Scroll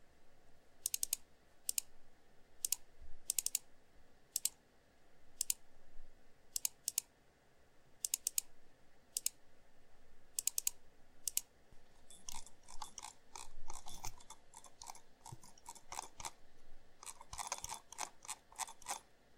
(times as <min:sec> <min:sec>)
0:00.8 0:01.9, 0:02.6 0:03.7, 0:05.4 0:05.6, 0:06.6 0:07.1, 0:08.0 0:08.5, 0:09.2 0:09.4, 0:10.4 0:16.4, 0:17.0 0:19.1